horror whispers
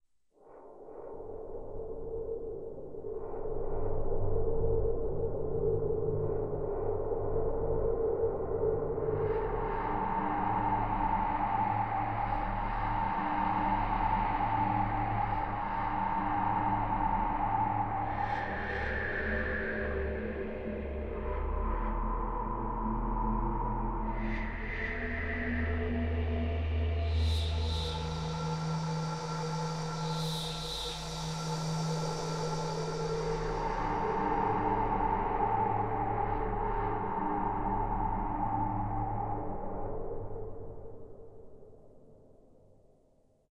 9.0s 40.5s

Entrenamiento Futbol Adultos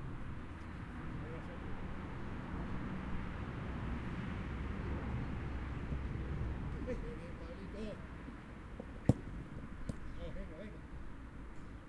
8.8s 10.8s

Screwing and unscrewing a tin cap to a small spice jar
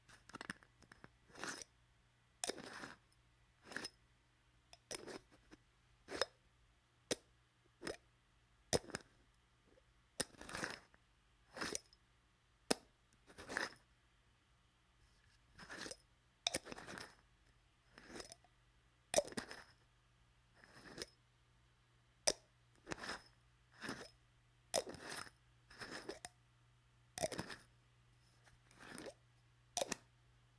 0.1s 1.7s, 2.4s 4.0s, 4.7s 6.4s, 8.7s 9.2s, 10.2s 12.0s, 12.7s 13.8s, 15.6s 17.2s, 17.9s 18.5s, 19.1s 19.8s, 20.6s 21.1s, 22.3s 26.4s, 27.2s 27.7s, 28.5s 30.1s

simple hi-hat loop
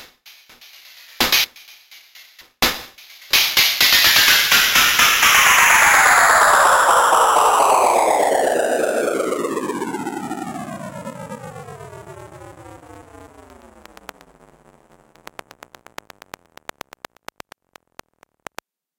0.0s 7.0s

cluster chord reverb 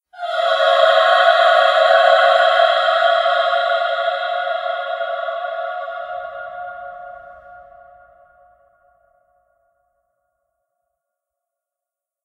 0.2s 8.5s

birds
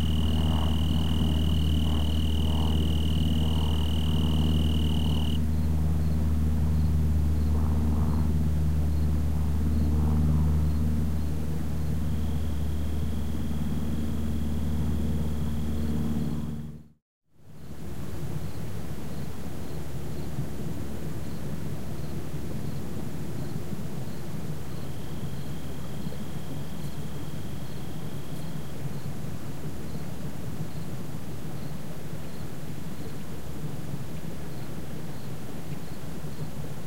0.0s 5.4s

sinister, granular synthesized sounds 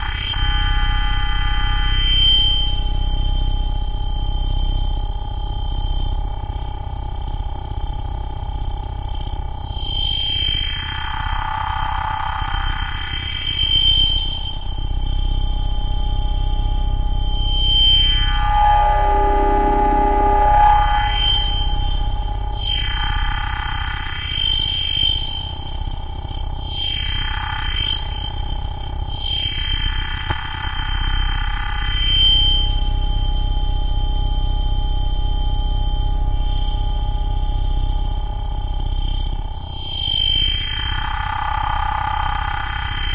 14.4s 23.7s

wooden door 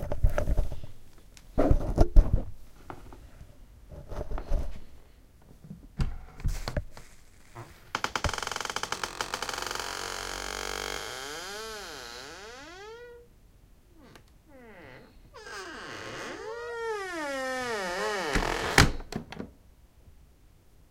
8.0s 13.0s, 14.7s 19.6s

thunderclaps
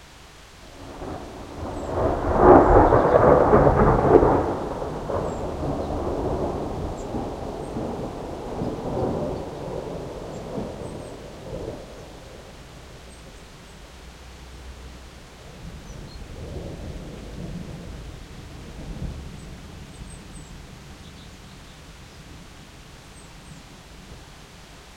0.7s 13.2s, 15.6s 21.0s

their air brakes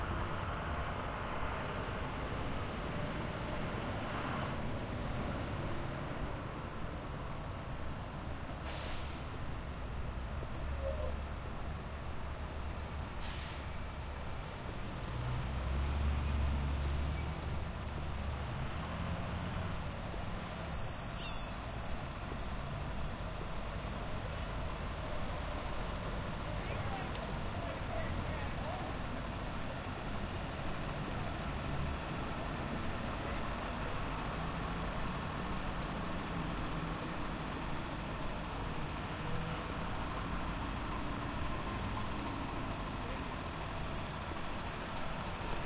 8.5s 9.4s, 13.2s 14.2s, 20.4s 22.1s

